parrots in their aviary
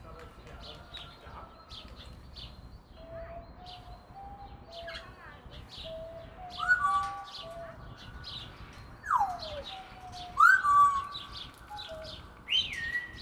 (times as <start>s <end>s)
3.2s 13.2s